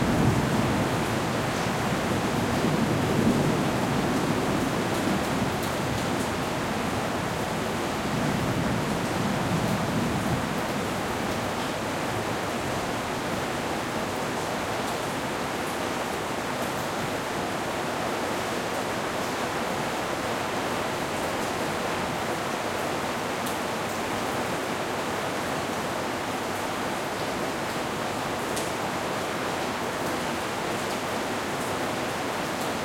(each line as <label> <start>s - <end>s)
rain 0.0s - 32.8s